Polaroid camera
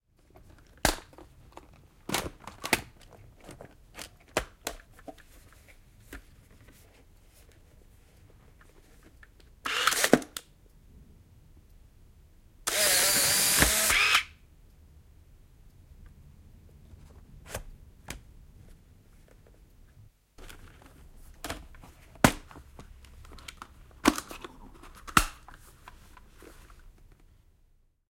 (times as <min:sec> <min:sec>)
0:09.7 0:10.2, 0:12.7 0:14.4